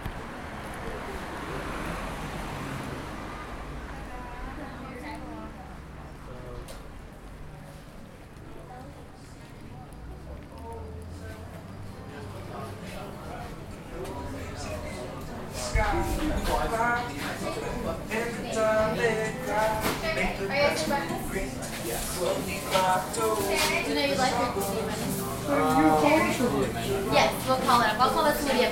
0.0s people at outdoor tables 28.7s
0.0s trucks and traffic noise 28.7s
0.9s people ordering breakfast 28.7s
15.5s someone singing 28.7s

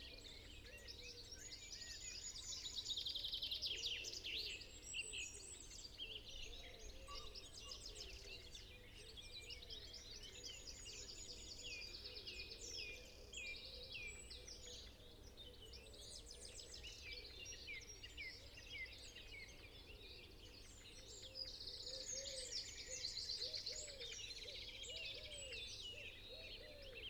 3.8s pheasant 27.0s

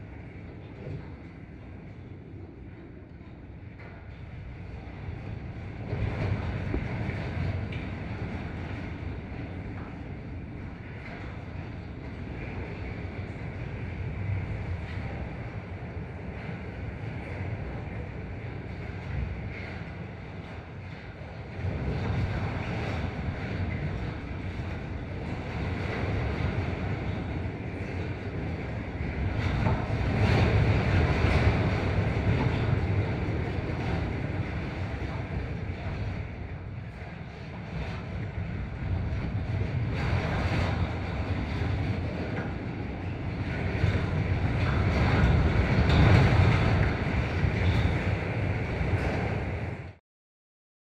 0.0s fence in the wind 50.0s

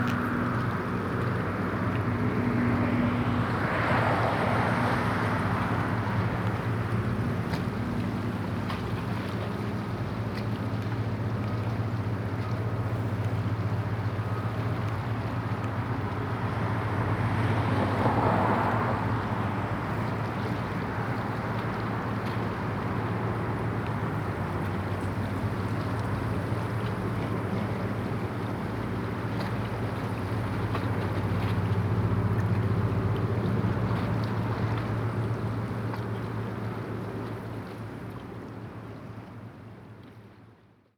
0.0s cars 6.8s
0.0s boats 40.9s
0.0s waves 40.9s
15.4s cars 23.8s

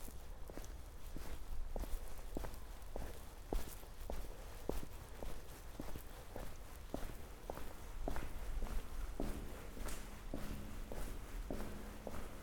0.0s walk from beginning to end of tunnel 12.4s

